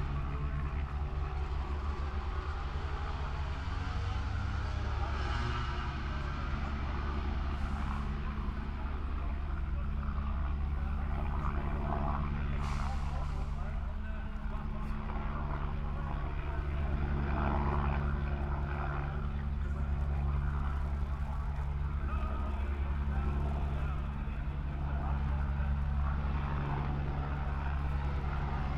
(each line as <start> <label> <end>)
0.0 helicopters in the air 28.7